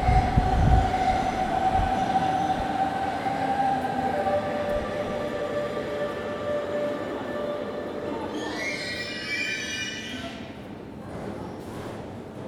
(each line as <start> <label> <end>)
0.0 trains comming and going 12.4